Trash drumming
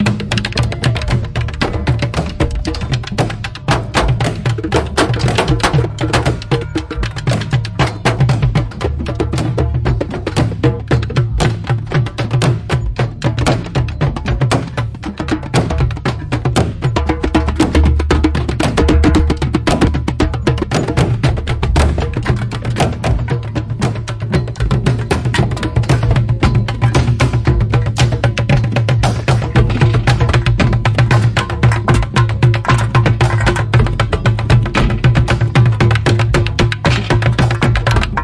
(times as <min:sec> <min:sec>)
0:12.8 0:38.2